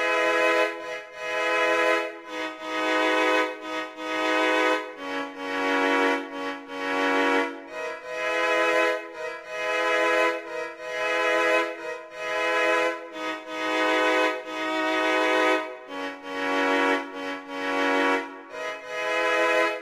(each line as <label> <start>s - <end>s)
Cello Song 0.0s - 19.8s